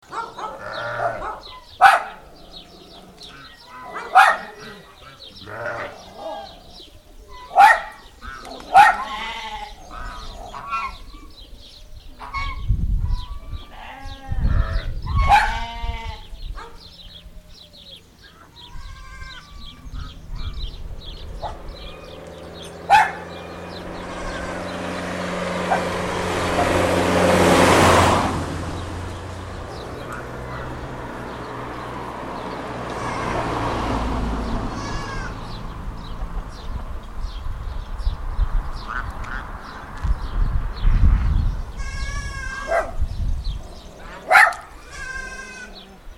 18.2s cars 43.0s

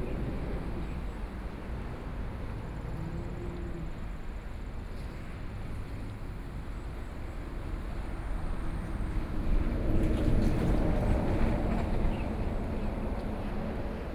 0.0s waves 14.1s

